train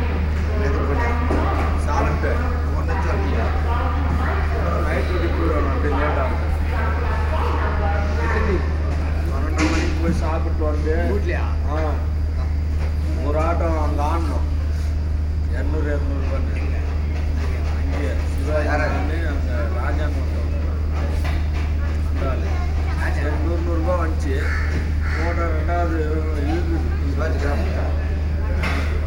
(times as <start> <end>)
0.0 8.9